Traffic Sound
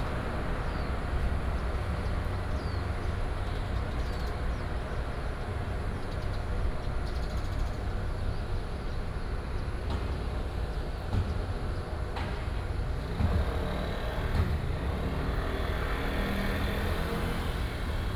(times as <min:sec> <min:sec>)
0:00.0 0:06.0, 0:09.7 0:18.1